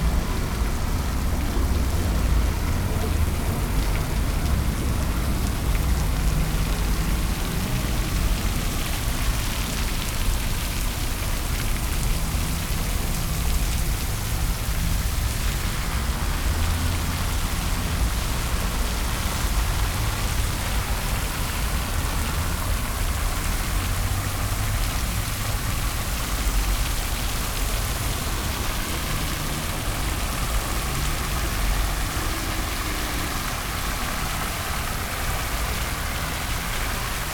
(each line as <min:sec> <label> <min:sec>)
0:00.0 cars and buses 0:37.3
0:00.0 fountain 0:37.3
0:00.0 people passing by 0:37.3